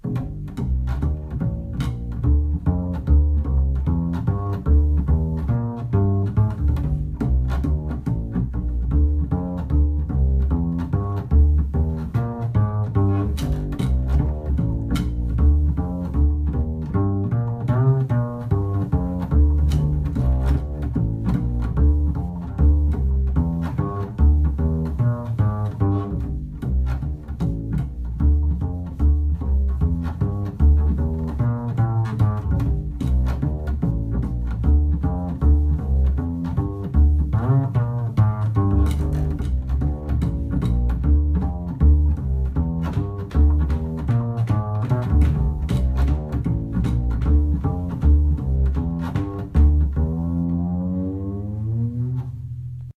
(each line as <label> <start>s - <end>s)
Double bass 0.0s - 52.9s